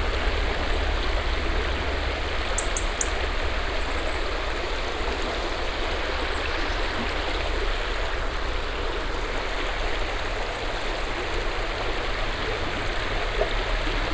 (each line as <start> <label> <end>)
2.5 birds chirping inside the forest 4.6